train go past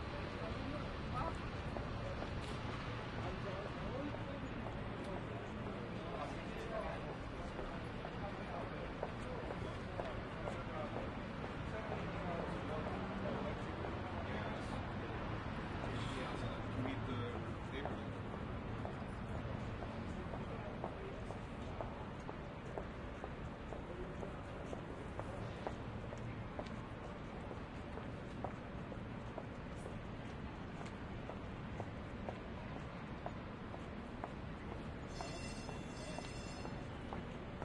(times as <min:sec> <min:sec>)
0:31.6 0:37.6